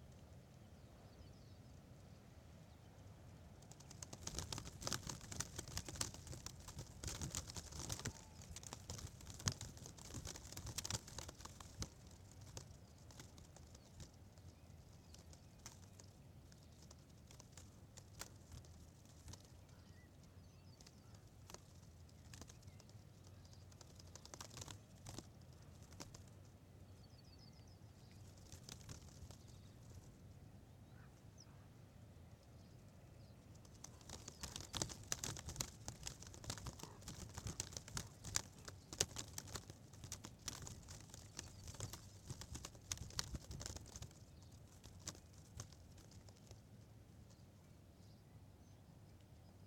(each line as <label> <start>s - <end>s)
plastic protective tape playing in the wind 3.6s - 26.4s
plastic protective tape playing in the wind 27.0s - 30.1s
plastic protective tape playing in the wind 33.6s - 46.8s